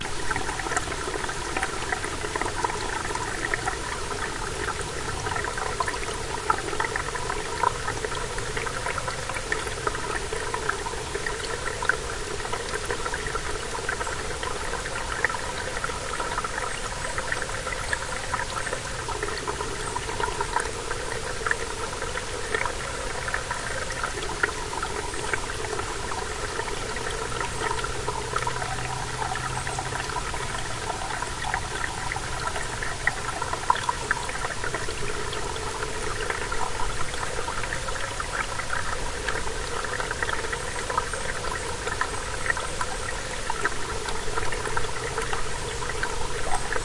0.0s Small Stream 46.8s

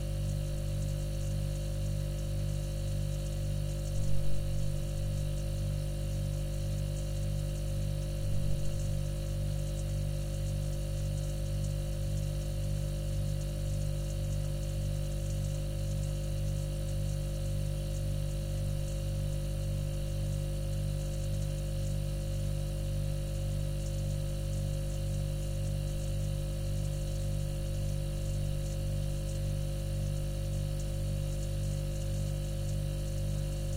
0.0s refrigerator 14.1s
31.4s refrigerator 33.7s

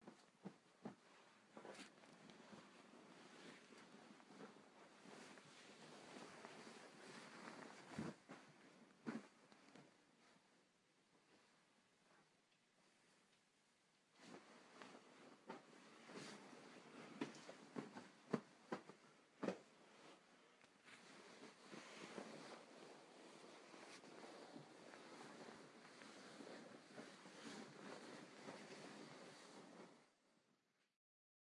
0.0s fluffing pillow 12.3s
0.0s tossing and turning to get comfortable 13.3s
14.1s tossing and turning to get comfortable 30.1s
14.1s fluffing pillow 30.2s

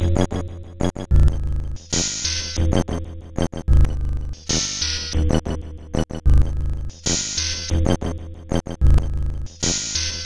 1.1s Drum Loop 2.6s

